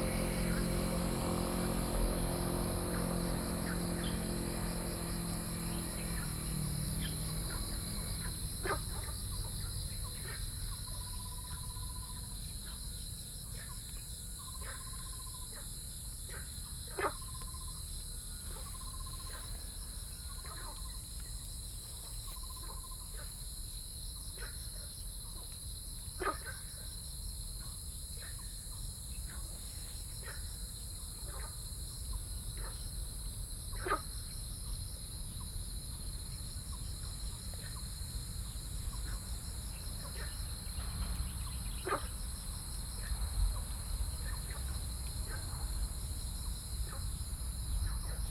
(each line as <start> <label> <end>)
0.0 Insect sounds 48.3
0.0 Frog calls 23.5
2.8 Birds singing 12.3
24.2 Frog calls 27.0
27.6 Frog calls 48.3
38.6 Birds singing 42.2